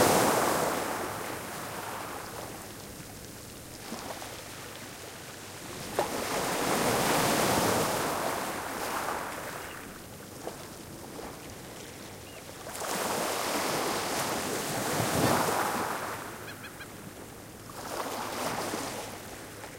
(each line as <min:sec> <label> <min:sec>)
0:00.0 Waves 0:19.7
0:00.0 wind 0:19.7
0:16.4 arctic terns 0:17.0